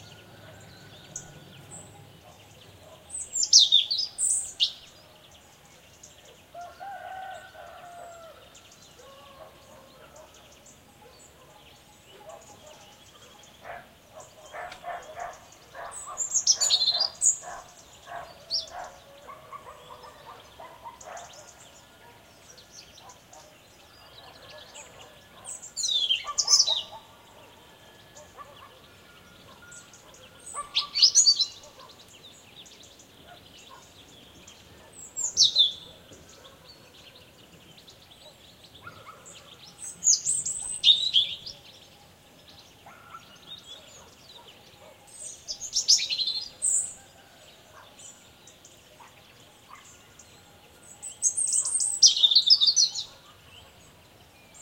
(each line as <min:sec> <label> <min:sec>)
0:00.0 bird tweets 0:54.6
0:02.2 dog barkings 0:03.2
0:06.6 rooster crowings 0:09.4
0:09.0 dog barkings 0:22.3
0:23.0 dog barkings 0:32.0
0:33.2 dog barkings 0:34.0
0:35.7 dog barkings 0:37.3
0:38.2 dog barkings 0:39.6
0:42.8 dog barkings 0:45.1
0:47.7 dog barkings 0:48.1
0:49.0 dog barkings 0:50.0
0:52.8 dog barkings 0:53.8